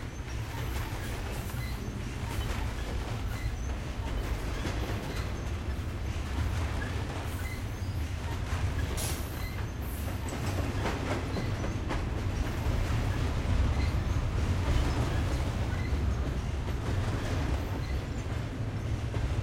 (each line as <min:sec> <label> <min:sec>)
0:00.0 long freight train 0:19.4